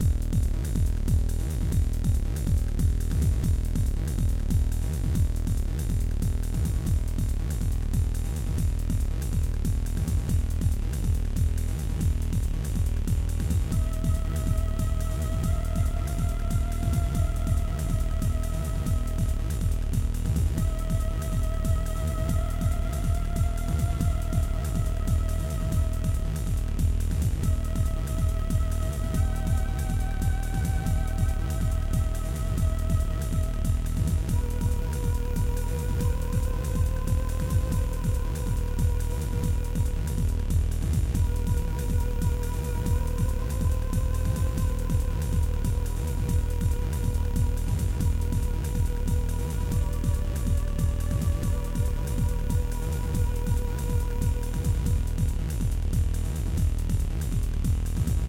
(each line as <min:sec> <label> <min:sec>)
0:00.0 drum loop 0:58.2
0:00.0 synthesizer 0:58.2